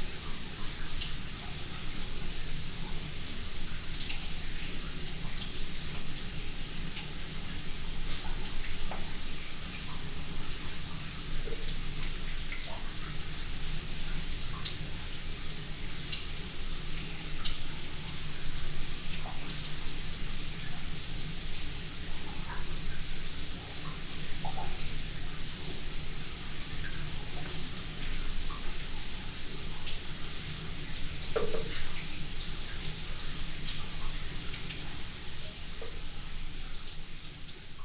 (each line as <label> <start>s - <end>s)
dripping water 0.0s - 37.8s